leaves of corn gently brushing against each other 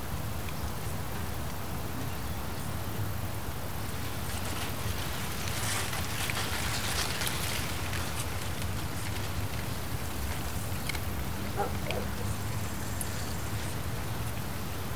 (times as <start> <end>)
3.8 10.5